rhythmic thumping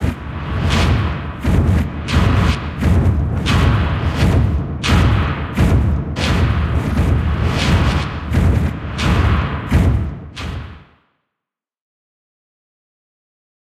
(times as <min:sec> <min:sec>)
0:00.0 0:10.8